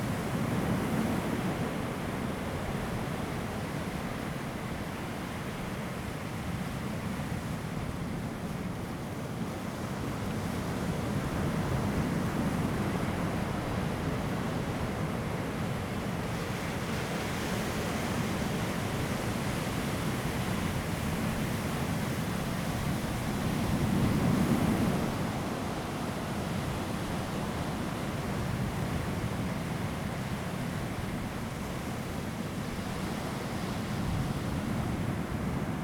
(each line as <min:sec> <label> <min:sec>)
0:00.0 waves 0:35.8